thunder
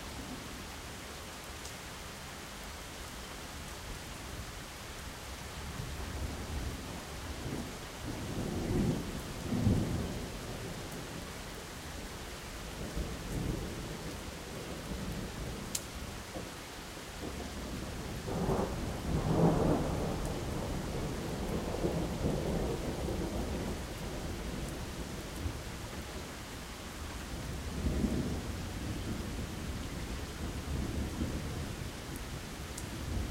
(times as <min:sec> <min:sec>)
0:18.2 0:24.3